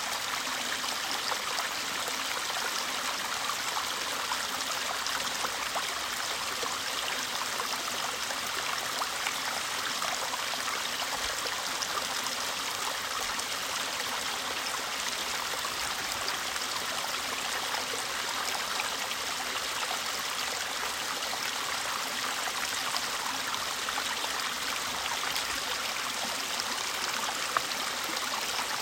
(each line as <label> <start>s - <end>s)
Fast flowing water 0.0s - 28.8s